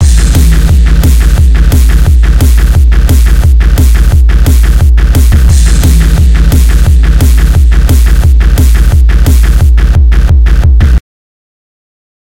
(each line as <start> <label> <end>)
0.0 Music 11.0